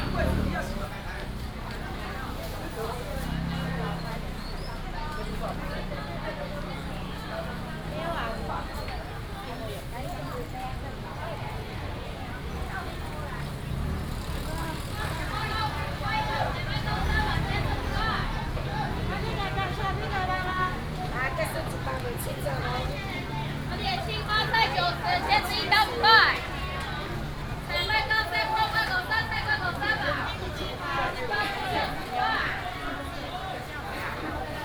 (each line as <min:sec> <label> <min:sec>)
0:00.0 Walking in the traditional market 0:34.6
0:00.0 traffic sound 0:34.6